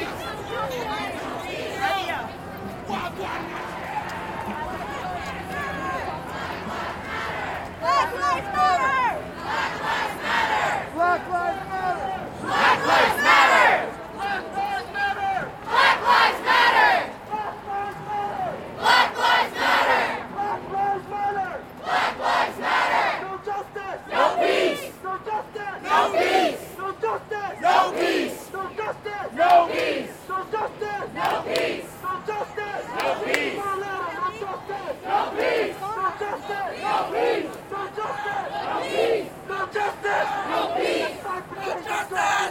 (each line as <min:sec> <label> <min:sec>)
0:00.0 Crowd Protest March passing 0:42.5